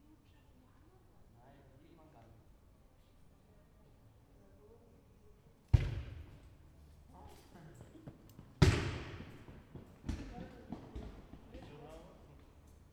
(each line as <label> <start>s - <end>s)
kicking the ball 5.8s - 6.3s
kicking the ball 8.6s - 10.4s